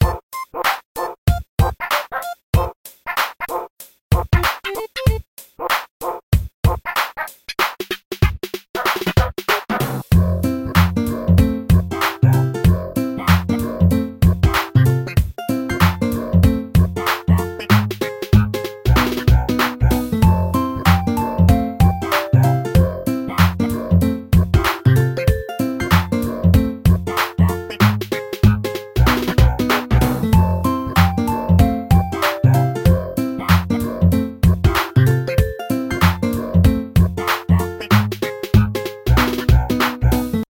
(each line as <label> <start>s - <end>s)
goofy chip tune 10.1s - 40.4s